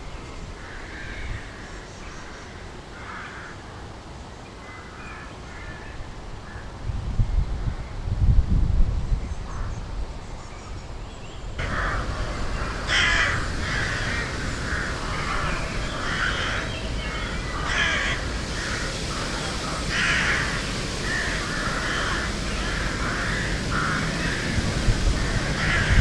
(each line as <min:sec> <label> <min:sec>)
0:00.4 nesting rooks 0:04.0
0:04.6 nesting rooks 0:06.7
0:11.6 nesting rooks 0:26.0